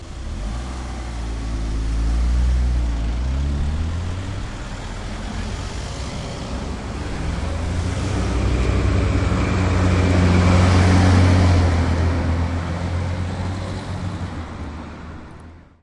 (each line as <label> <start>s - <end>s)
traffic moving after a red light switches to green 0.0s - 15.7s
truck 0.0s - 15.8s